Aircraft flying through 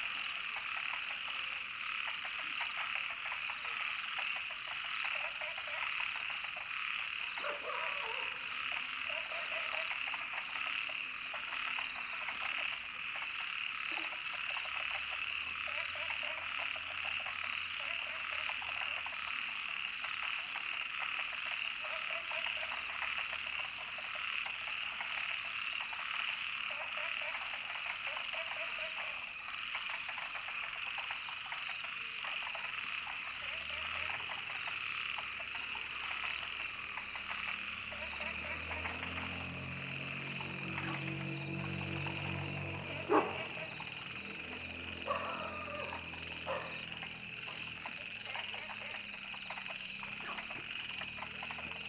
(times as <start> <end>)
36.2 49.1